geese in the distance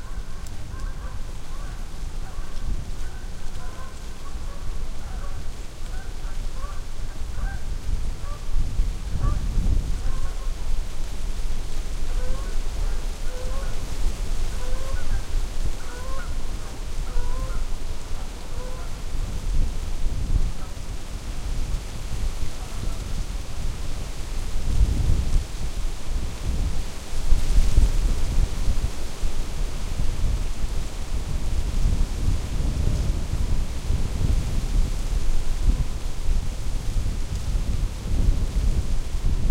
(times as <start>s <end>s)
0.0s 10.7s, 12.0s 13.8s, 14.4s 19.2s, 22.5s 23.2s